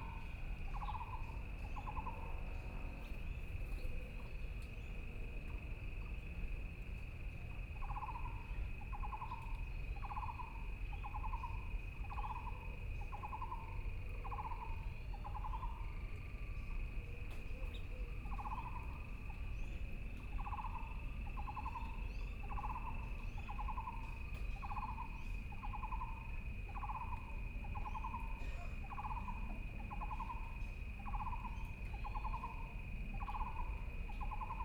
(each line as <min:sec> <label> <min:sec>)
0:00.0 Insects sound 0:34.6
0:07.8 Frogs sound 0:16.0
0:17.7 Frogs sound 0:34.6